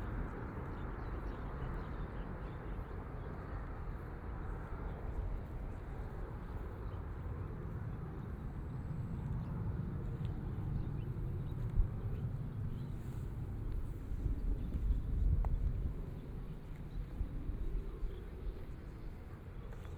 0.0s Walking along the river 19.9s

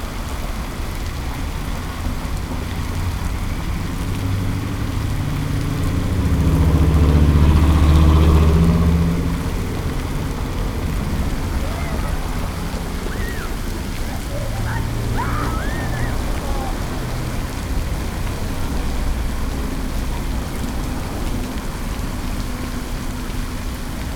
0.0s cars and buses 24.1s
0.0s fountain 24.1s
5.3s people passing by 24.1s

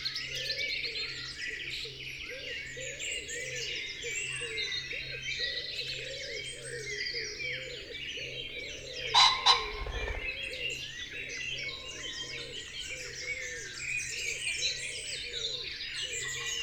0.1s blackbird 16.6s
0.2s pheasant 16.6s
0.2s great spotted woodpecker 16.6s
3.9s blue tit 16.6s
5.2s song thrush 16.6s
5.9s wood pigeon 16.6s
6.4s robin 10.8s
7.7s wren 11.0s
9.1s buzzard 10.7s
9.2s great tit 10.7s

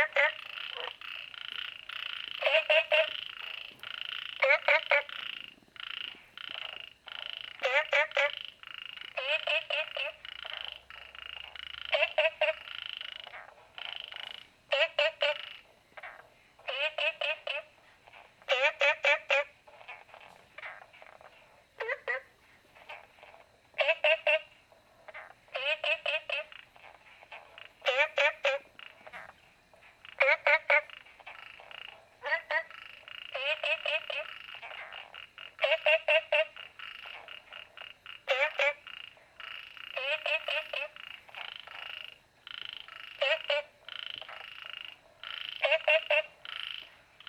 0.0s Frogs chirping 47.2s

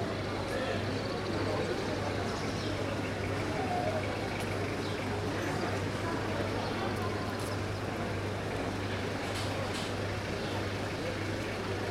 0.0s Locals and tourists talking 11.9s
0.0s touristic buses in the background 11.9s

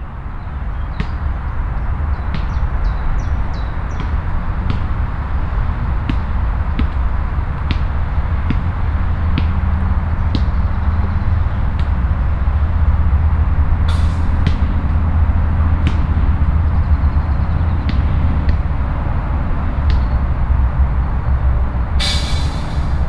6.0s young man playing basket-ball 12.0s

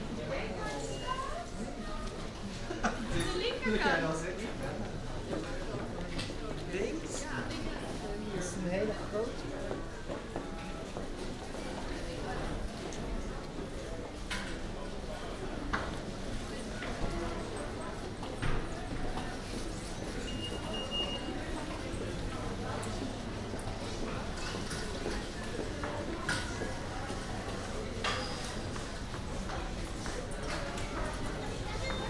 0.0s Customers and employees 32.0s

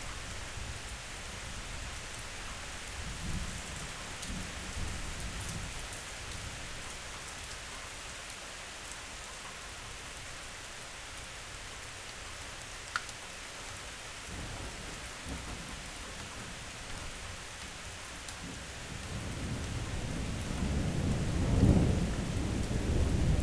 0.0s rain 23.4s
18.4s thunder 23.4s

